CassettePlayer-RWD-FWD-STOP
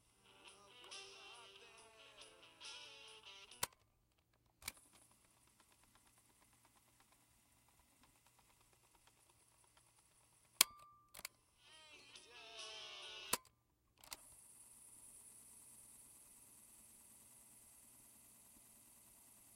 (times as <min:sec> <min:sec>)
0:00.0 0:03.8, 0:04.6 0:14.2